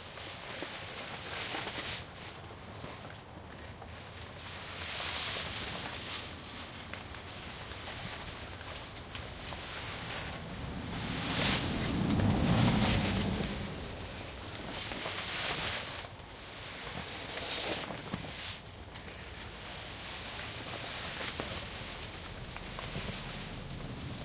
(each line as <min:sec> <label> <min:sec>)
0:03.9 plastic car tent shelter flap 0:24.2